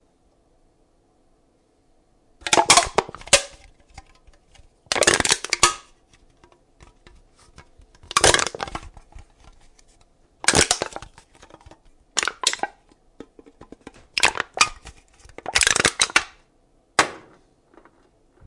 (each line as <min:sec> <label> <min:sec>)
0:02.4 crushing a soda can 0:09.8
0:10.4 crushing a soda can 0:16.4